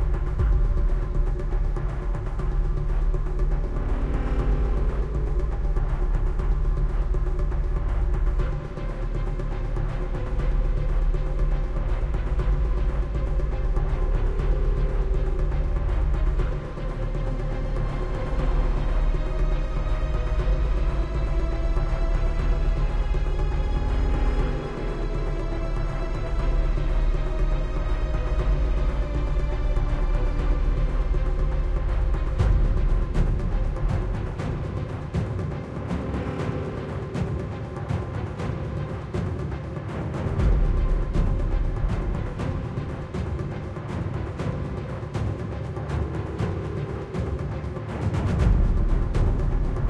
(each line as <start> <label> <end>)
0.0 Epic Orchestra 49.8
0.0 Heavy Drone 49.8